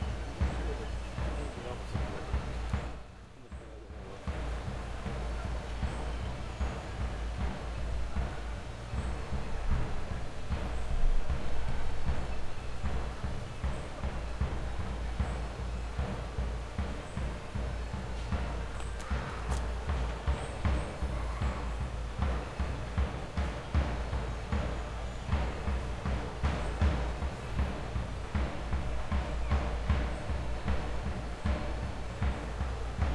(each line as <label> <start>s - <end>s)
distant drums 0.0s - 33.1s